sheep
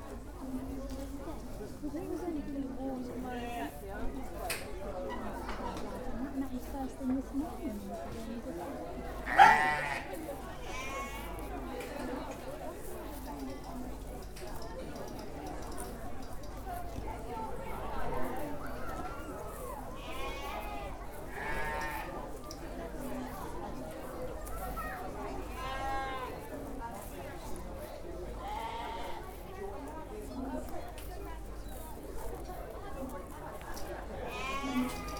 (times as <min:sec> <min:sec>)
0:09.1 0:11.7, 0:18.6 0:22.9, 0:24.4 0:26.5, 0:28.3 0:29.5, 0:31.1 0:35.1